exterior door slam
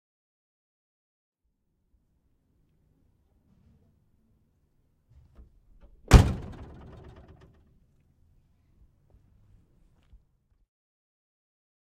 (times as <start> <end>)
6.1 7.5